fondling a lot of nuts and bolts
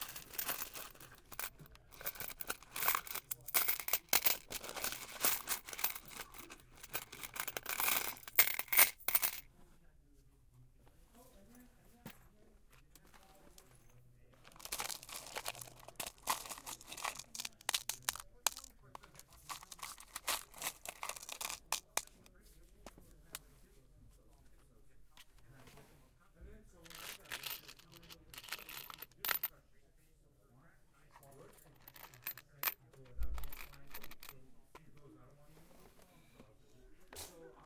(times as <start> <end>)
0.0 9.5, 12.8 23.4, 26.8 29.6, 31.4 36.4